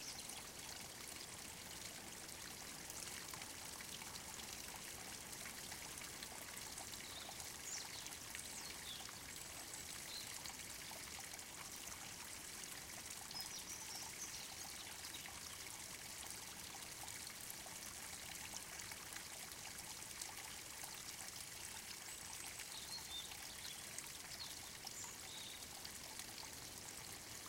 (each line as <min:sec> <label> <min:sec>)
0:00.0 small forest stream 0:27.4